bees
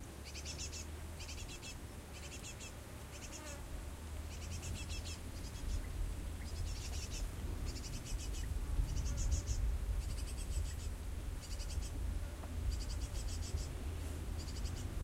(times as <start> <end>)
0.3 3.7